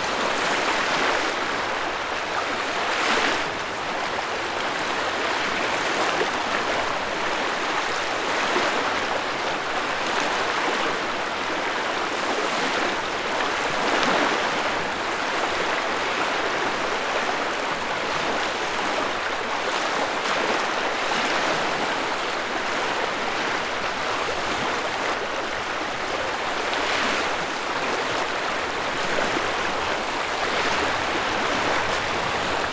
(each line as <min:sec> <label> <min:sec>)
0:26.2 wind noise 0:32.7